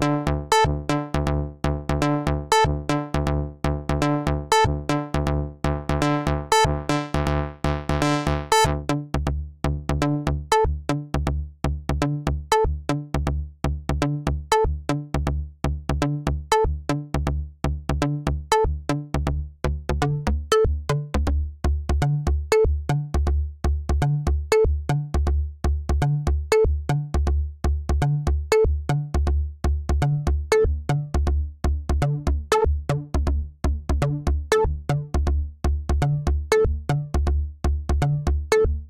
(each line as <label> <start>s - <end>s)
electro bass loop 0.0s - 23.3s
electro bass loop 30.0s - 38.8s